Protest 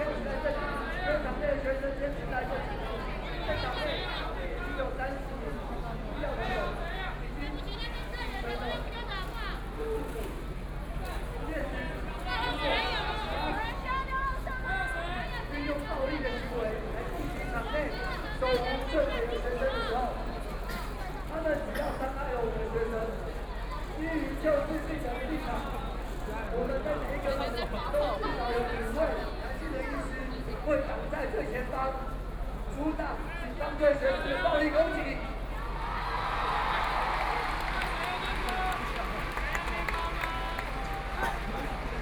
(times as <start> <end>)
35.5 42.0